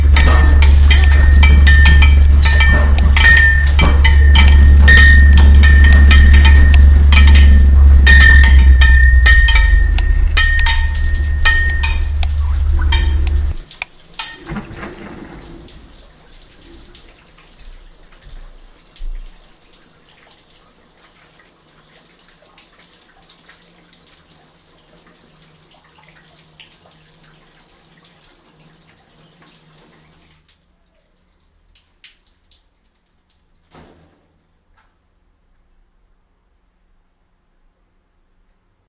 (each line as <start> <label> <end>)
0.0 hammer 12.2
0.0 water 35.7